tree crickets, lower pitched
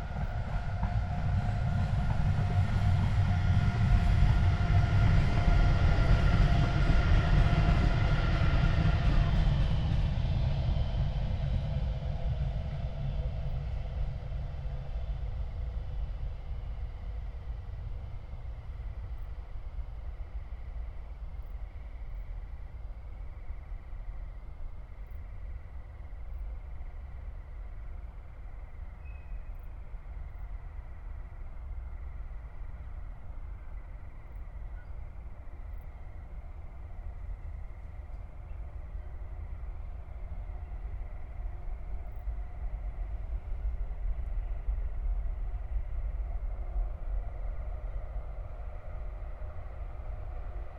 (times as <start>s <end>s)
11.9s 50.7s